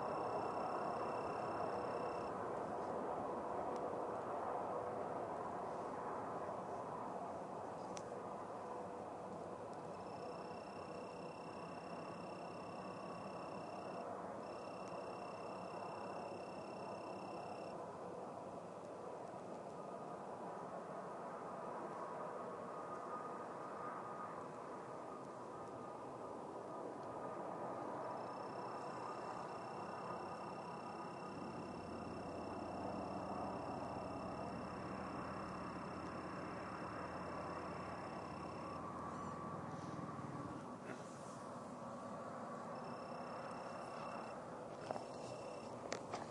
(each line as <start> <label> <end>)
0.0 crickets 3.1
3.8 crickets 18.4
14.4 train 30.9
19.2 crickets 46.3